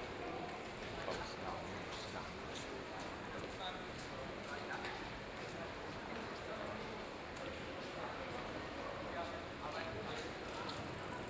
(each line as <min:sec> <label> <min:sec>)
0:00.0 construction workers are discussing 0:11.2
0:00.2 people talking 0:11.2